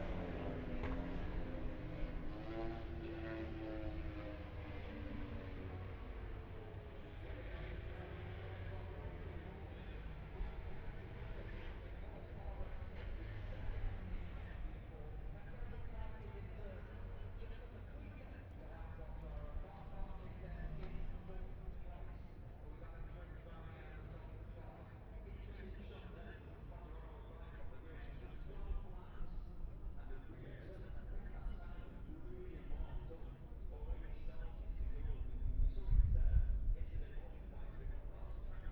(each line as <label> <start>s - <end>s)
moto grand prix free practice four 0.0s - 27.0s